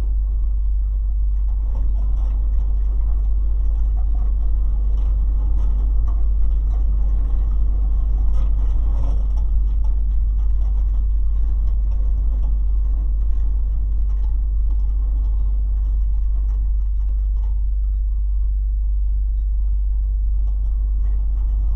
low frequencies throbbing everything 0.0 - 21.7
very windy day 0.0 - 21.7

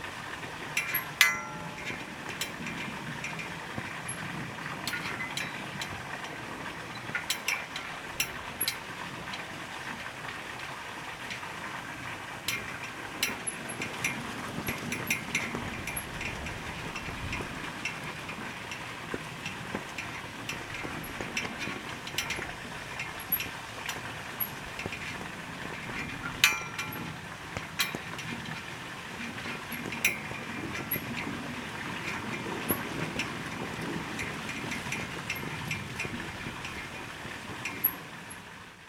fountain 0.0 - 38.8

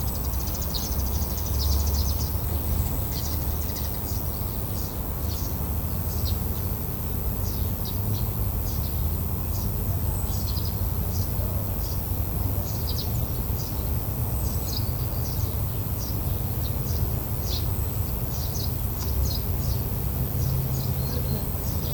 insects singing by the side of the dirt road 0.0 - 21.9

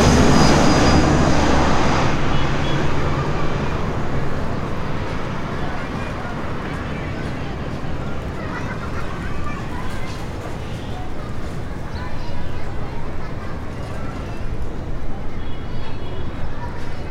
overhead airplanes 0.0 - 17.1

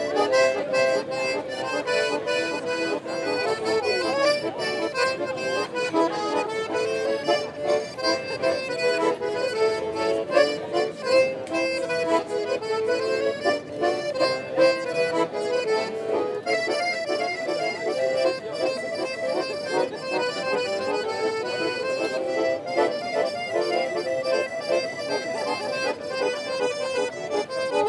gypsies playing accordion 0.0 - 27.8

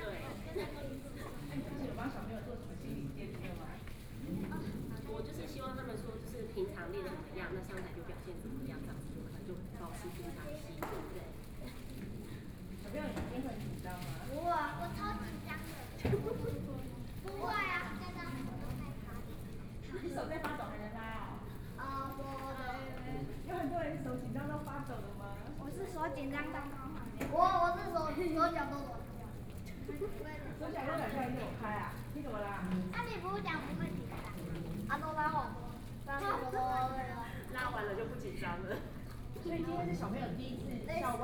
Elementary school students and teachers 0.0 - 41.2

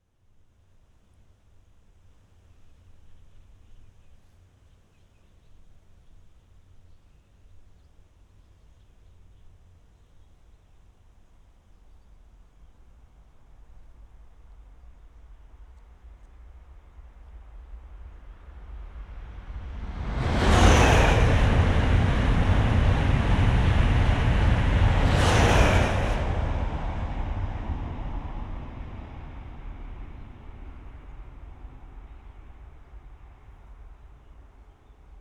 ICE passing 19.7 - 27.6

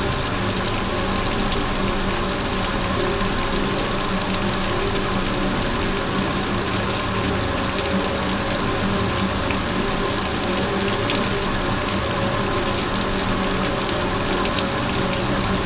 small dam 0.0 - 15.6

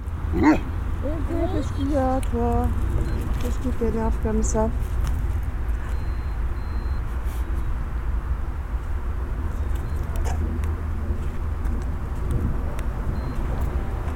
walking in this wasteland 8.8 - 14.1

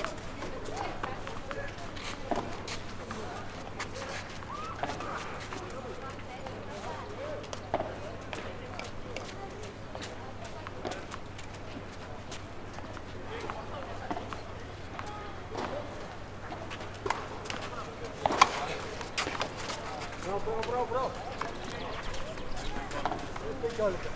Tennis court action 0.0 - 24.1

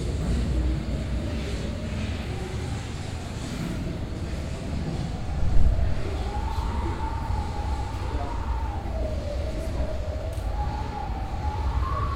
people 0.0 - 12.1

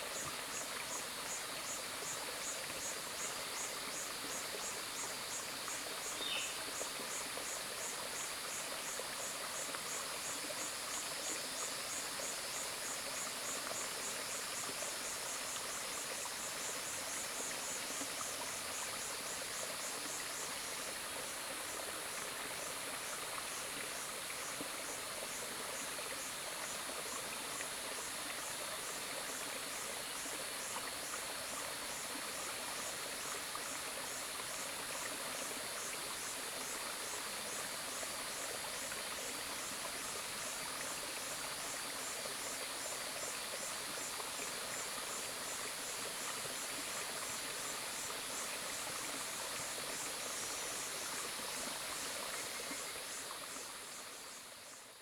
Cicada sounds 0.0 - 55.0
stream 0.0 - 55.0

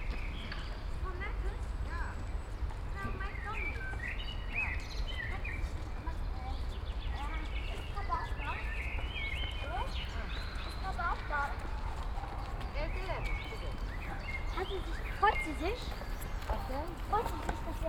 pedestrians 0.0 - 17.8
sparrow 0.0 - 17.8
children 1.0 - 17.8
blackbird 2.9 - 17.8

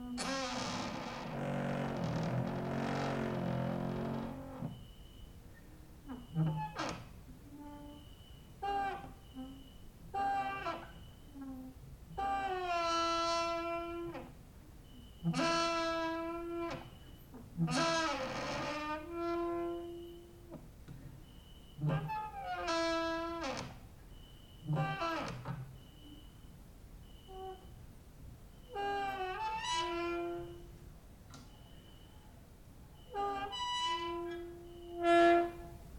creaking with wooden doors 0.0 - 5.2
creaking with wooden doors 6.0 - 26.4
creaking with wooden doors 28.6 - 32.1
creaking with wooden doors 33.0 - 35.8

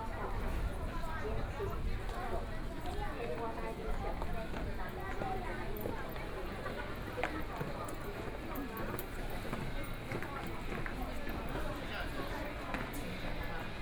Walking through the station 0.0 - 13.8

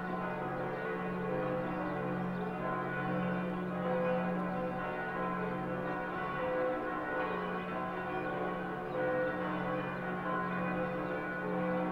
bells of the clocktower 0.0 - 11.9

